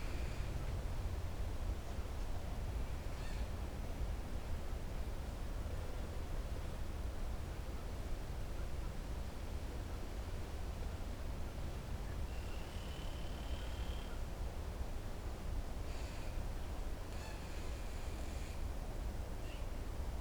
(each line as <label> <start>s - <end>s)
wind 0.0s - 20.2s